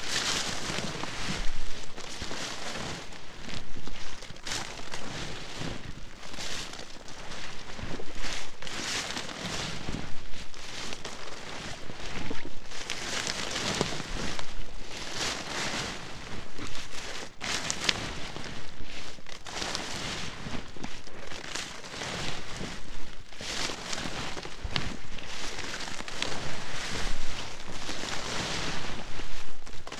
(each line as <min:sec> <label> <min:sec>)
0:00.0 walking though grass slowed down 0:29.9